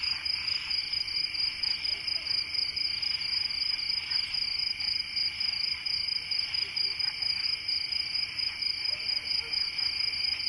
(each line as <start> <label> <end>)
0.0 cricket chorus 10.4
0.0 frogs 10.4
8.8 dog barking 10.0